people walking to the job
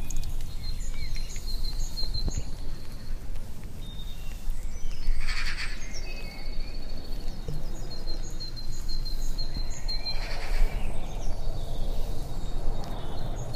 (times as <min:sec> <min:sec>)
0:00.0 0:05.2